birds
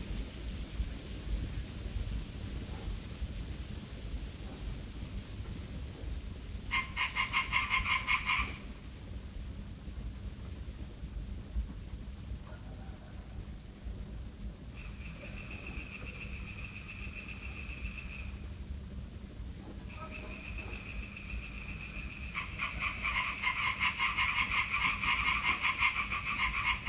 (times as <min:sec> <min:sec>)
0:06.7 0:08.7, 0:14.8 0:18.5, 0:19.8 0:26.8